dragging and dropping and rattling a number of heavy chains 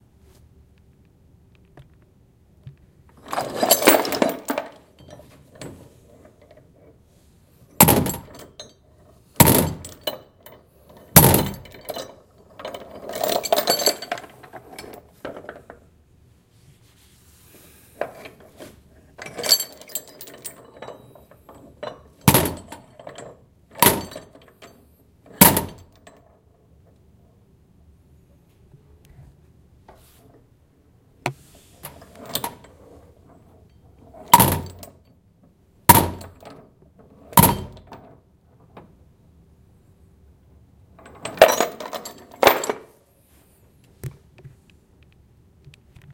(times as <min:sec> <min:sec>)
0:03.1 0:15.8, 0:17.9 0:26.5, 0:31.5 0:35.1, 0:35.9 0:38.2, 0:40.9 0:43.4